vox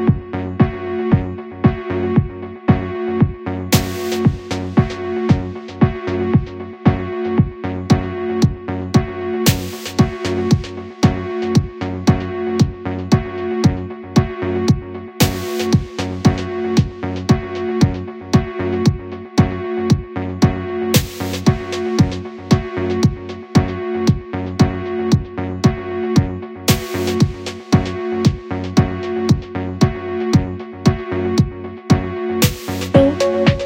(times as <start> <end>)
32.9 33.6